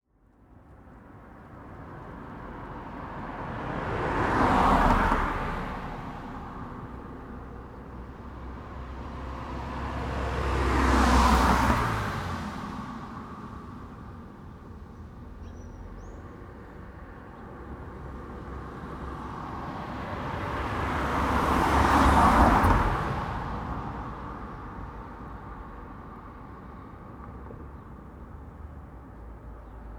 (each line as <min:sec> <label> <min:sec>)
0:00.5 cars passing by 0:29.9
0:14.8 birds 0:17.9